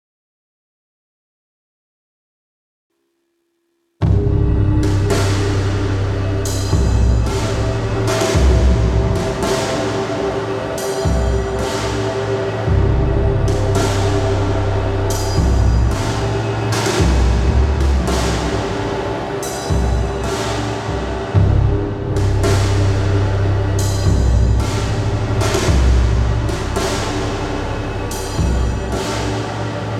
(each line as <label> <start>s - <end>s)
SWAMP DRUMS 4.0s - 29.9s